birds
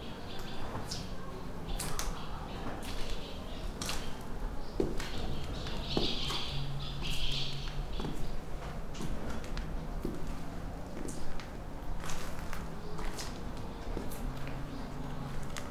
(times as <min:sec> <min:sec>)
0:00.0 0:08.4